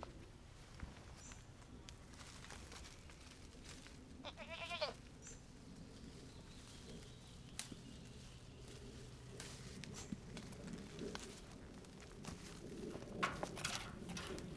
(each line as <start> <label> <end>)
0.0 started chewing on oak tree leaves 14.5
9.5 little goats ran up the the gate 14.5